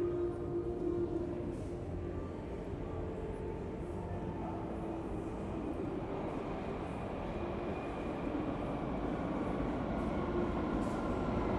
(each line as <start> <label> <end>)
0.0 music 6.0
0.0 train 11.5